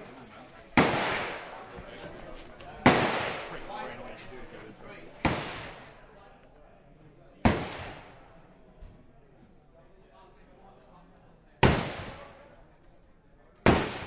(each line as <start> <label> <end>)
0.0 m16 2.0
0.0 other guns 4.3
0.8 real rounds of AK47 1.6
2.8 m16 3.9
5.1 other guns 6.0
5.1 m16 6.1
5.2 real rounds of AK47 6.0
7.4 other guns 8.5
7.4 m16 8.4
11.6 m16 12.4
11.6 other guns 12.6
11.6 real rounds of AK47 12.4
13.5 other guns 14.0
13.6 m16 14.0
13.6 real rounds of AK47 14.0